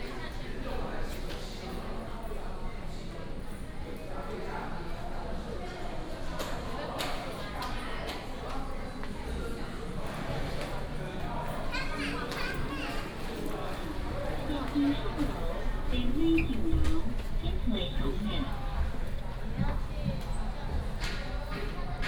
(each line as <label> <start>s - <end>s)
Take the elevator 12.2s - 22.0s
Walking 12.2s - 22.0s